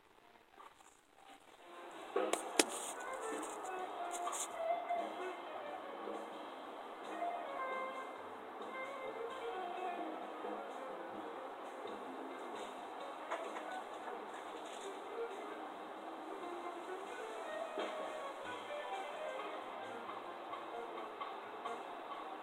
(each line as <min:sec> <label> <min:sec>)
0:01.3 traffic 0:22.4